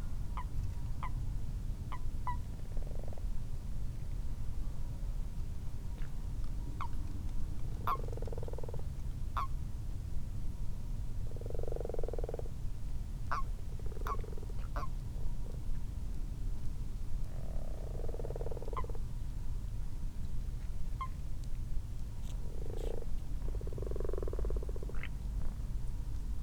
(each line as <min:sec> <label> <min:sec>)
0:00.0 common toads in a garden pond 0:03.4
0:01.9 common frogs 0:03.4
0:05.9 common toads in a garden pond 0:09.8
0:07.7 common frogs 0:09.6
0:11.0 common toads in a garden pond 0:15.8
0:11.2 common frogs 0:12.6
0:13.3 common frogs 0:15.7
0:16.8 common toads in a garden pond 0:19.7
0:17.3 common frogs 0:19.2
0:20.4 common toads in a garden pond 0:26.4
0:22.2 common frogs 0:25.7